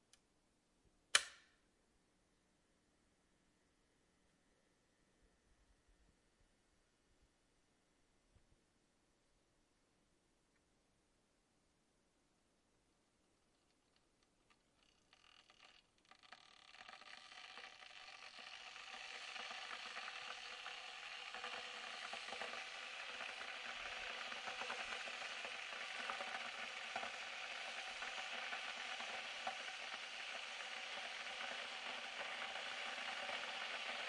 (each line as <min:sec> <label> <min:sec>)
0:14.2 Electric water boiler 0:34.0